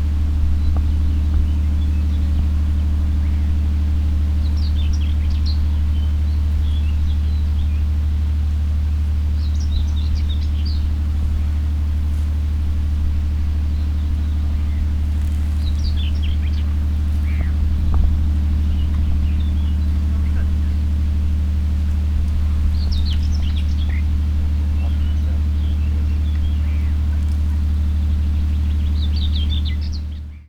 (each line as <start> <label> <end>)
0.0 buzz is coming form a big municipal garbage disposal facility 30.4
14.9 crows going astray 30.1